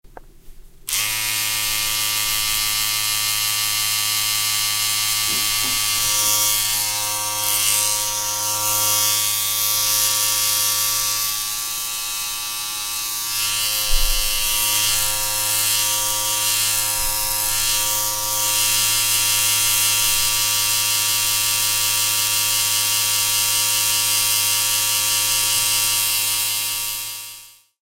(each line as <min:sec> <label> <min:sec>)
0:00.9 electric mechanical shaving device at work 0:27.8